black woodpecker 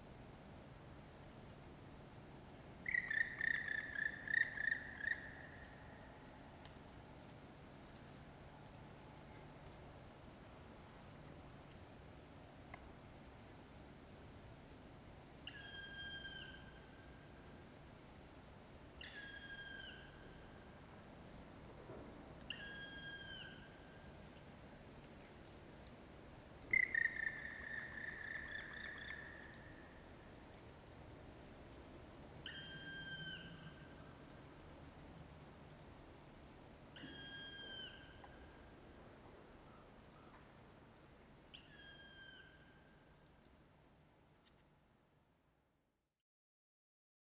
2.8s 5.9s, 26.7s 29.8s, 32.4s 34.0s, 36.9s 38.4s, 41.5s 42.8s

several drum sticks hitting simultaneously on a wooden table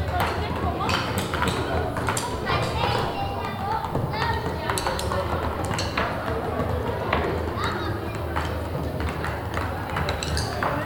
0.9s 6.3s, 8.4s 10.8s

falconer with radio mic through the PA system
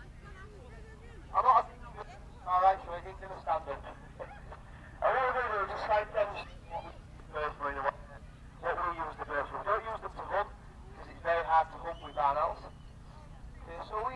2.5s 6.4s, 7.3s 13.0s, 13.6s 14.1s

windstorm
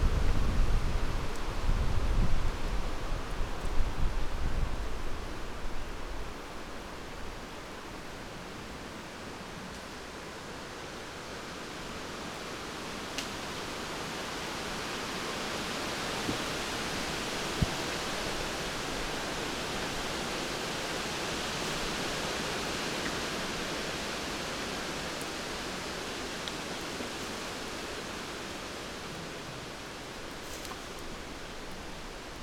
0.0s 7.4s

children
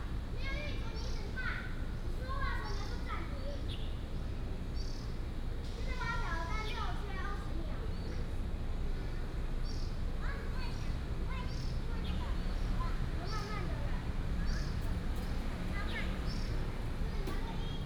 10.2s 17.8s

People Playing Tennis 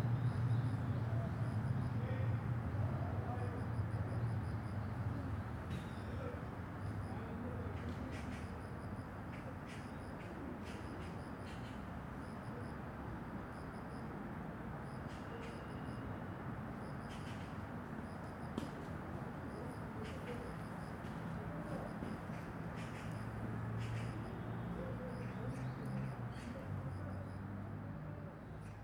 18.6s 24.2s

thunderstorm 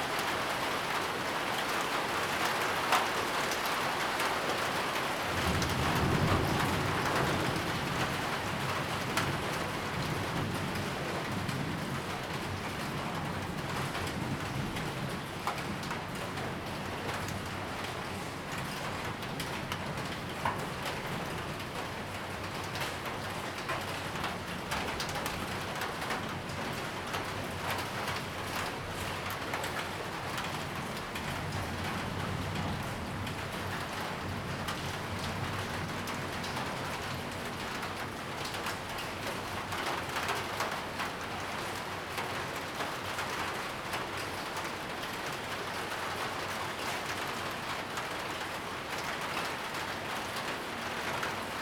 4.6s 21.6s, 24.7s 41.1s

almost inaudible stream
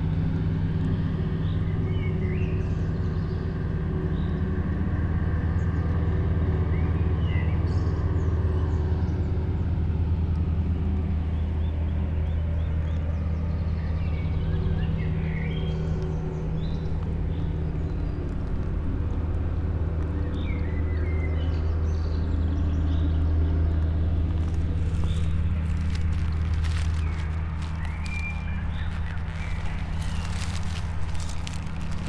24.3s 32.0s

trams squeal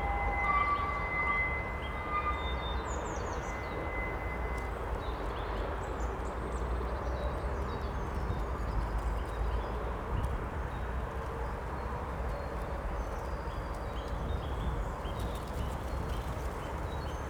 0.0s 5.8s

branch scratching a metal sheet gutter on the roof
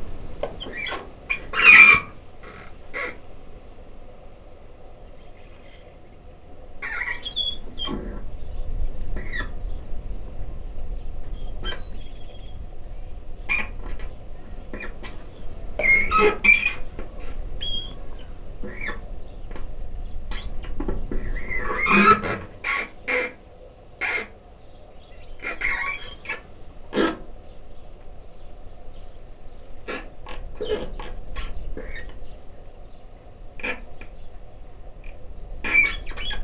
20.3s 23.4s

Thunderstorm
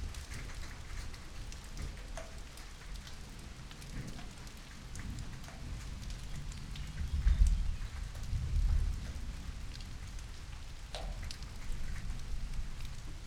3.9s 13.2s

